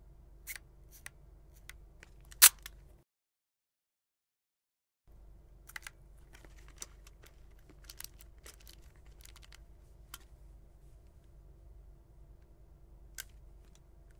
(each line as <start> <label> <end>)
2.3 Vintage camera clicks 2.7